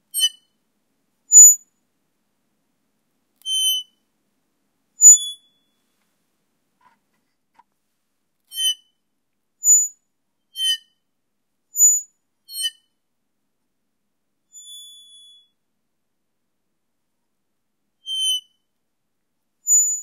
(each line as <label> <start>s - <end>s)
squeak 0.1s - 0.5s
squeak 3.4s - 4.0s
squeak 5.0s - 5.8s
squeak 8.5s - 9.0s
squeak 9.6s - 10.0s
squeak 10.6s - 11.0s
squeak 11.8s - 12.9s
squeak 14.6s - 15.6s
squeak 18.1s - 18.5s
squeak 19.7s - 20.0s